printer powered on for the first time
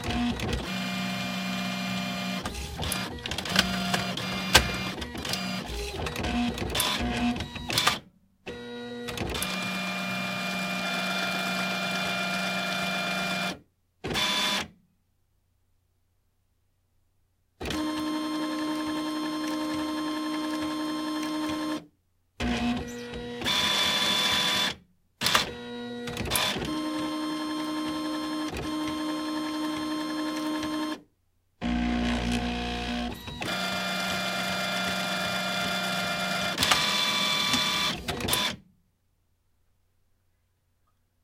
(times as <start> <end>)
0.0 14.7, 22.4 31.0, 31.6 38.6